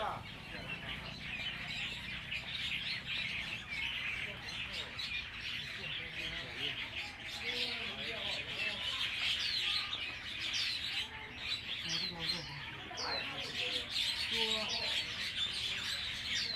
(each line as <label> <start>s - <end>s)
Tourists 0.0s - 16.5s
Birds singing 0.0s - 16.5s